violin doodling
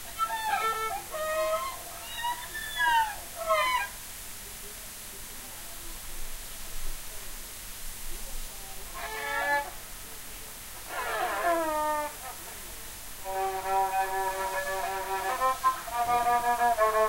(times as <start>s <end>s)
0.0s 3.9s, 8.9s 9.8s, 10.8s 17.0s